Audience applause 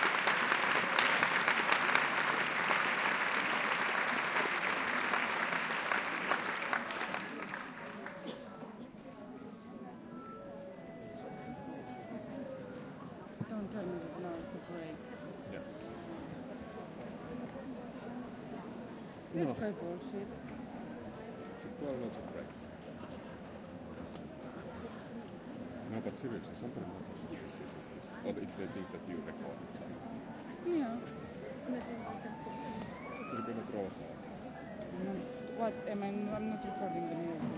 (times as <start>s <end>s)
0.0s 8.6s